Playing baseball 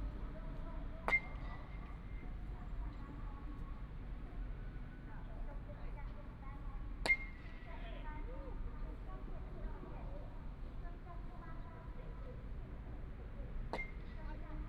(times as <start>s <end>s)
0.0s 3.9s, 6.6s 9.4s, 11.5s 14.6s